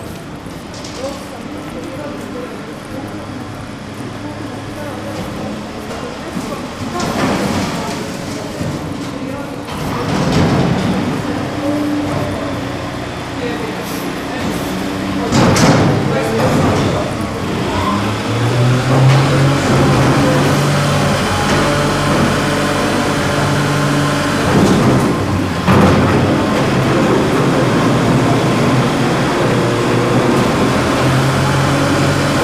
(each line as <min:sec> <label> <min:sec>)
0:13.8 truck takes out the garbage cans 0:32.4